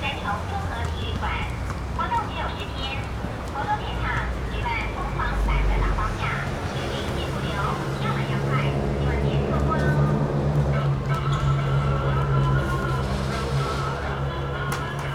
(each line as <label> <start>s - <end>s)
Broadcasting vans 4.7s - 15.1s